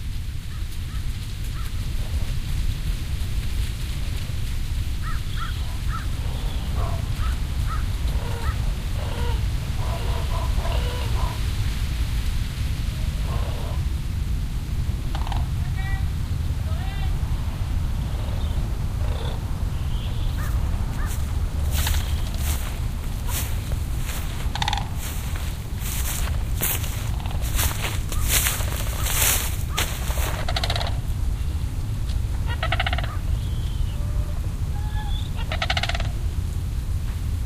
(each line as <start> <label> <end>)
0.0 dried corn stalks in the breeze 37.4
0.1 flock of sandhill cranes 14.0
15.0 flock of sandhill cranes 15.8
16.6 flock of sandhill cranes 36.4
20.3 my footsteps 30.9